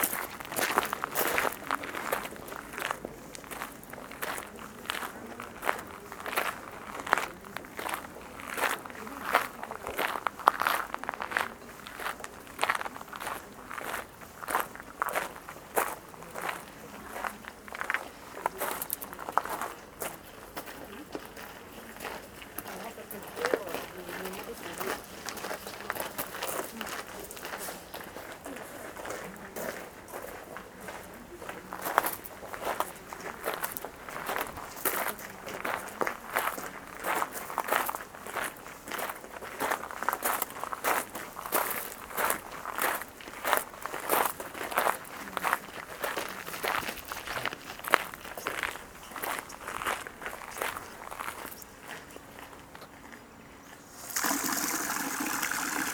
walking on the gravel 0:00.0 - 0:54.2
people talking 0:00.5 - 0:14.0
people talking 0:15.2 - 0:37.8
people talking 0:44.7 - 0:47.6

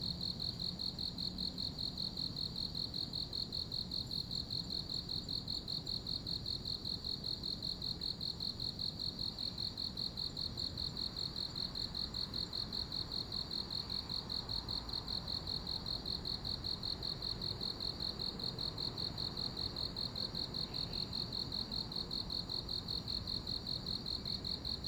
insects 0:00.0 - 0:24.8

